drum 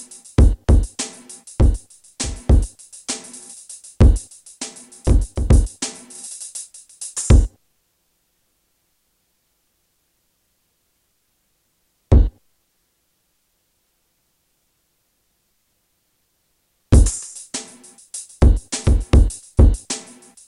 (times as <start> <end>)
0.0 7.5, 12.1 12.4, 16.9 20.4